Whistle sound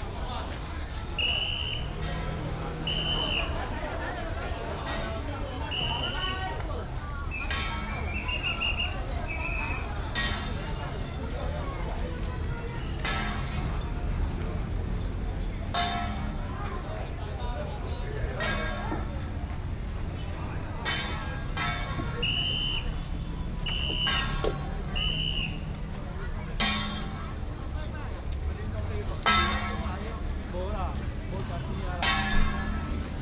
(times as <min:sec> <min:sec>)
0:01.2 0:02.0, 0:02.8 0:03.6, 0:05.7 0:06.4, 0:08.1 0:09.8, 0:22.2 0:25.7